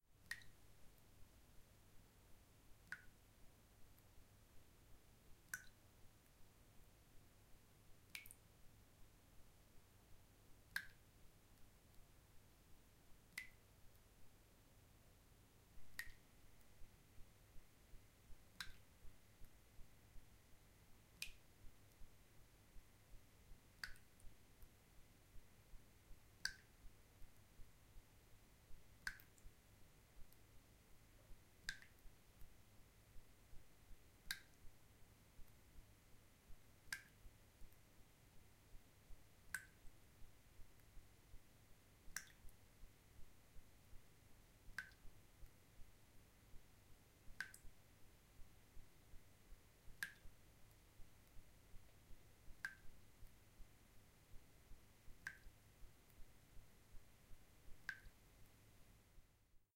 slow dripping in a sink 0:00.0 - 0:59.4

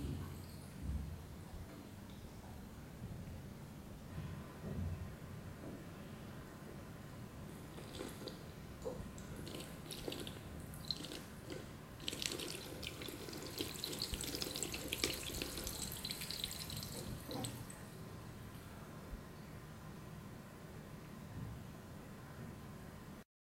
water pipe on the wall of the gym made some bubbling noise 0:07.7 - 0:17.9

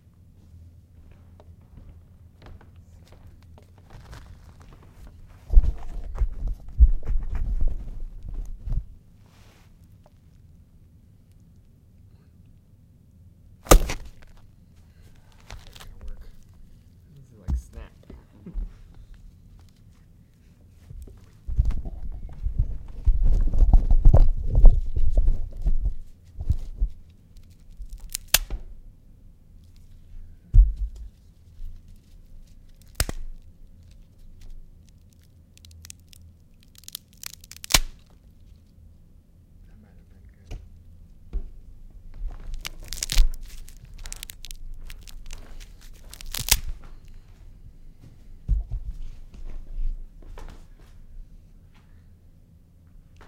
snapping a bunch of twigs 0:13.6 - 0:14.5
snapping a bunch of twigs 0:15.1 - 0:16.6
snapping a bunch of twigs 0:27.4 - 0:28.5
snapping a bunch of twigs 0:31.6 - 0:38.2
snapping a bunch of twigs 0:42.4 - 0:47.2

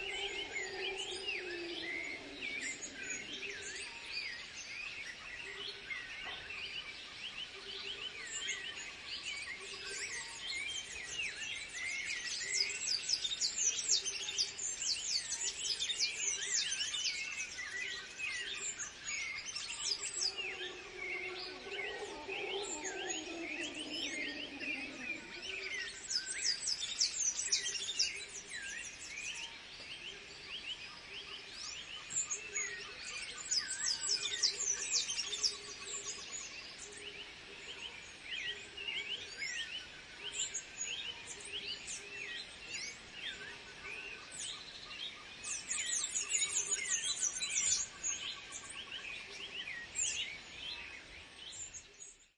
Howler Monkeys 0:00.0 - 0:04.1
insects 0:00.0 - 0:52.0
Birds 0:00.0 - 0:52.3
Howler Monkeys 0:19.4 - 0:26.9

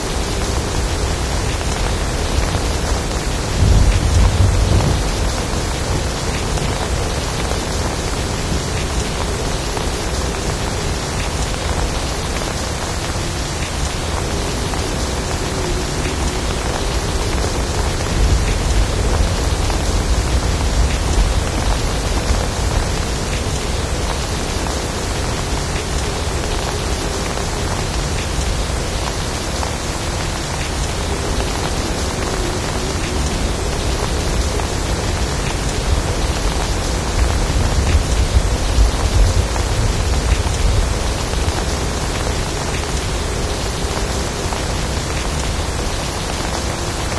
thunder 0:03.6 - 0:08.6

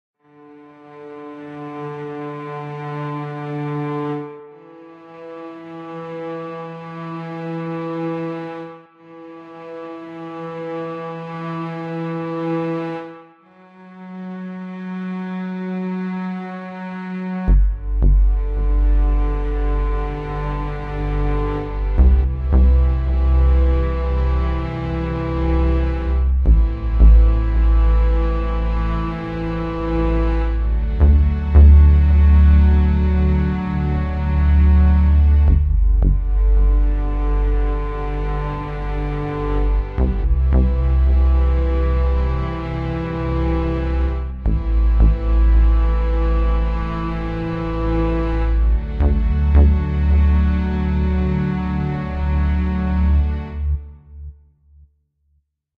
violins 0:00.2 - 0:54.1
bass 0:14.3 - 0:54.4

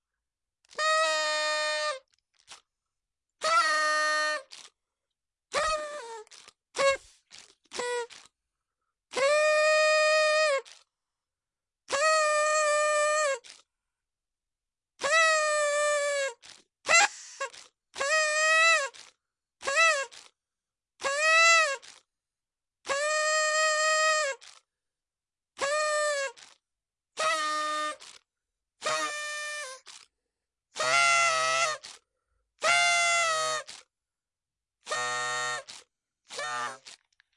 party horn 0:00.6 - 0:02.6
party horn 0:03.4 - 0:04.7
party horn 0:05.5 - 0:08.3
party horn 0:09.1 - 0:10.9
party horn 0:11.9 - 0:13.6
party horn 0:15.0 - 0:20.3
party horn 0:21.0 - 0:22.0
party horn 0:22.8 - 0:24.6
party horn 0:25.6 - 0:26.6
party horn 0:27.2 - 0:28.2
party horn 0:28.8 - 0:30.1
party horn 0:30.8 - 0:32.0
party horn 0:32.6 - 0:33.9
party horn 0:34.8 - 0:37.1

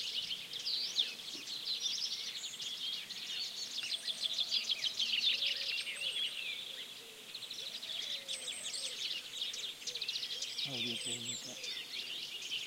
birds 0:00.0 - 0:12.6

